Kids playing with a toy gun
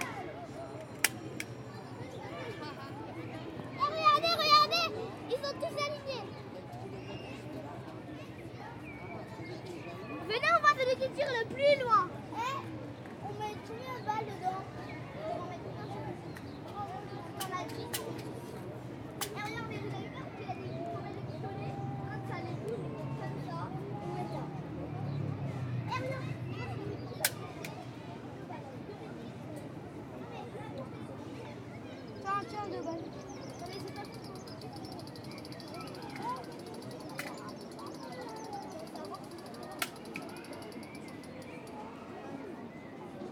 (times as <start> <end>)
0.0 1.7, 17.3 18.6, 19.2 20.0, 25.9 27.9, 33.5 41.8